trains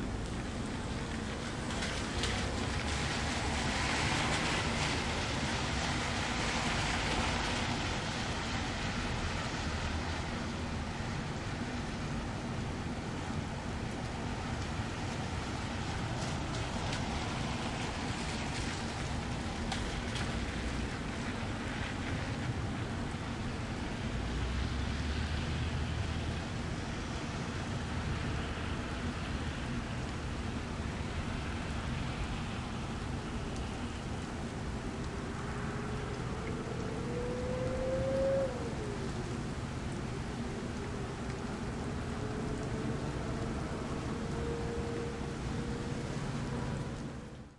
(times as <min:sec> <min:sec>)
0:00.0 0:09.1, 0:15.2 0:22.2